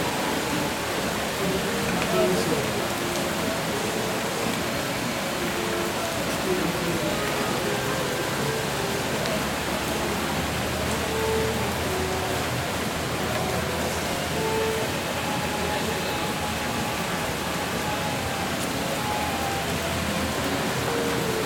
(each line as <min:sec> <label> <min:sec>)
0:00.0 estudiantes conversan 0:20.7